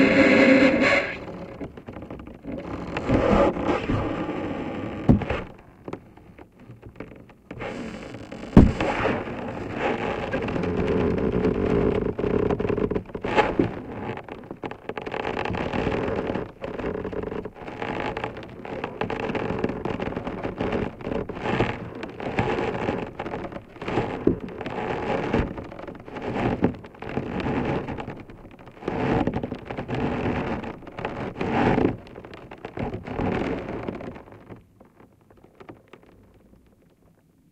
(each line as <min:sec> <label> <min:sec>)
0:00.0 sections of ice being levered against the main body of ice 0:37.4